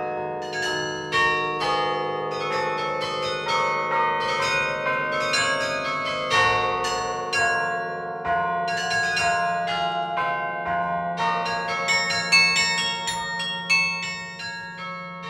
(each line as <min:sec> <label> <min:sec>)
0:00.0 Carillon 0:15.2